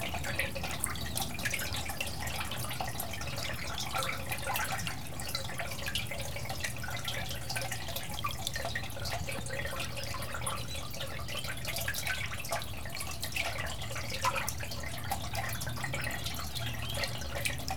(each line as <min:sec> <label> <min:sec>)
0:00.0 brook reverberated in a concrete pipe 0:17.7